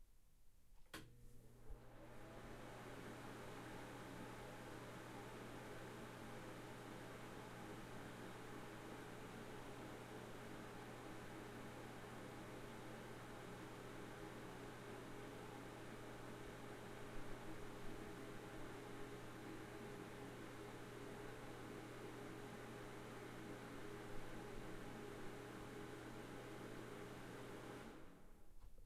Bathroom Fan 0:00.8 - 0:28.8

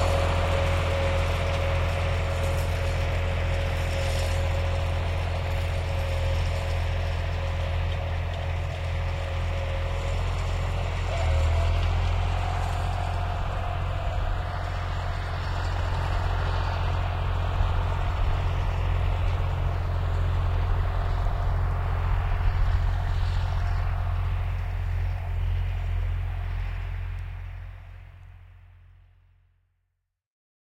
receding with the harrow rattling 0:00.0 - 0:29.1
Tractor with a harrow, start, pulling off 0:00.0 - 0:29.5

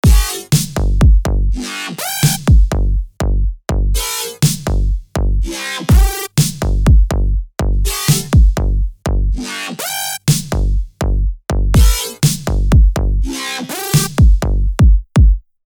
Kick Drum 0:00.0 - 0:01.6
Bass 0:00.0 - 0:15.4
Snare 0:00.2 - 0:00.9
Snare 0:02.2 - 0:02.6
Kick Drum 0:02.2 - 0:09.4
Snare 0:04.4 - 0:04.8
Snare 0:06.4 - 0:06.8
Snare 0:08.0 - 0:08.4
Snare 0:10.3 - 0:10.7
Kick Drum 0:10.3 - 0:13.3
Snare 0:12.0 - 0:12.6
Snare 0:13.7 - 0:14.4
Kick Drum 0:14.0 - 0:15.6

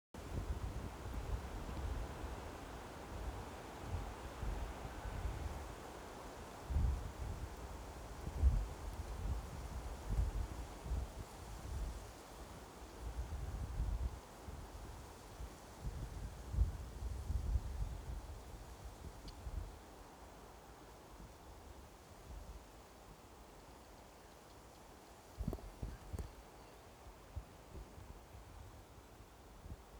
wind 0:00.0 - 0:29.9

